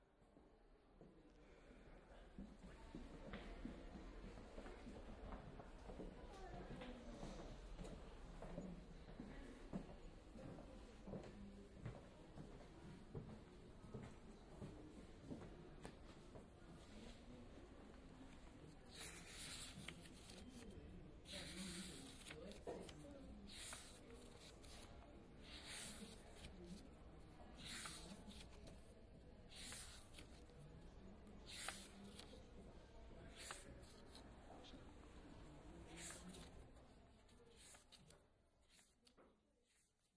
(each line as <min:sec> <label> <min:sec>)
0:18.2 browse a book 0:40.1